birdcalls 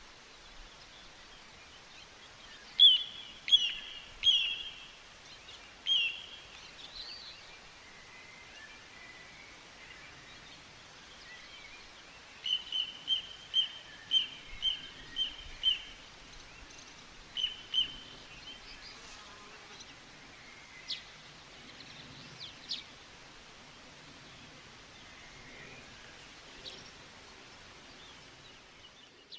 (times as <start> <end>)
2.6 5.0